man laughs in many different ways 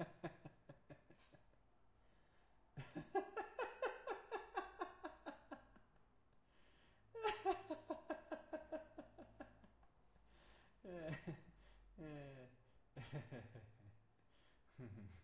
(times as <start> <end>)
0.0 1.6, 2.8 6.2, 7.1 9.9, 10.8 14.0, 14.7 15.2